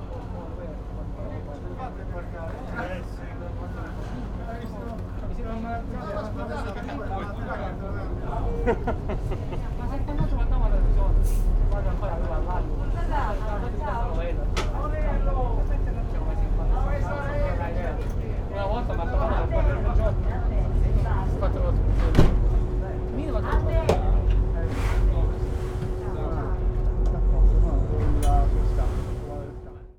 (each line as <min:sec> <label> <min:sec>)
0:00.0 aliscafo ferry 0:29.9
0:00.0 passengers on board 0:29.9